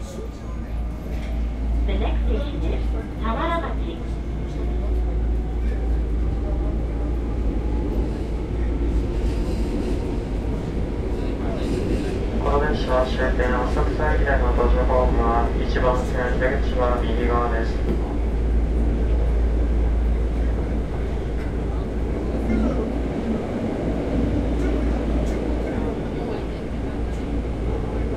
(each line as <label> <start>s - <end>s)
train ride 0.0s - 28.1s